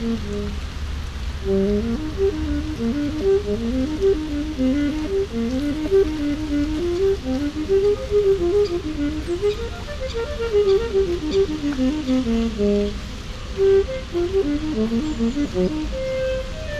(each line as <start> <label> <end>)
0.0 Saxophone player 0.6
0.0 fountain 16.7
0.0 pedestrians 16.7
0.0 traffic 16.7
0.0 windy 16.7
1.4 Saxophone player 16.7